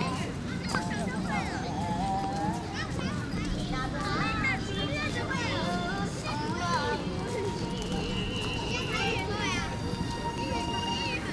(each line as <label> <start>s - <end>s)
Children 9.4s - 11.3s